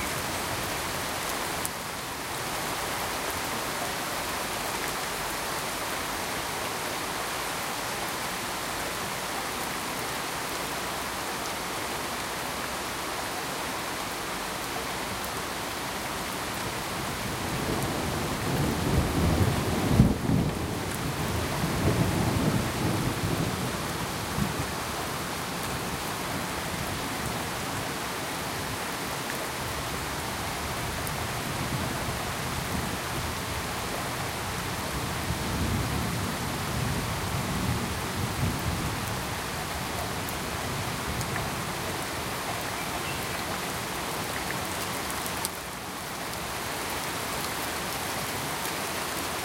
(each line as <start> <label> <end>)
0.0 Heavy steady Rain 49.4
17.6 gently rolling thunder 24.6